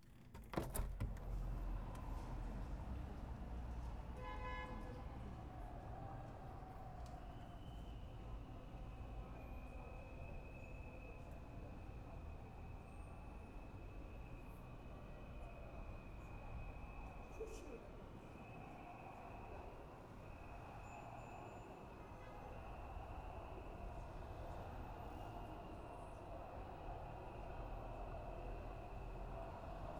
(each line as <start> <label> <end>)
4.2 car horns 5.1